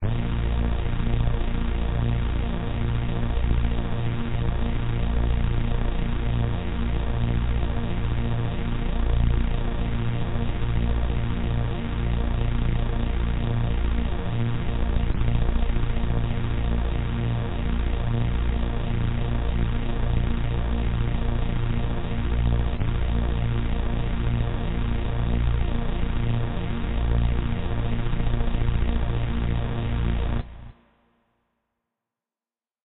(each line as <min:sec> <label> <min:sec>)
0:00.0 LOW DRONE 0:30.8